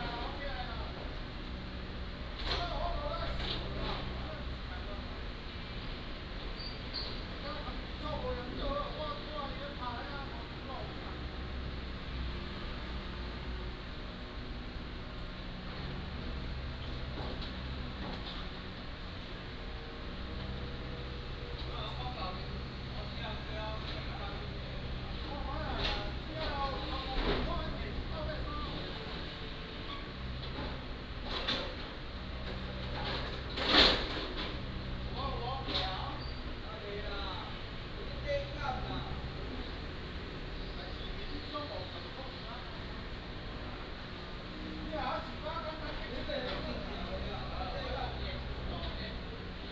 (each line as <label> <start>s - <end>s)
Sewer Construction 0.0s - 49.7s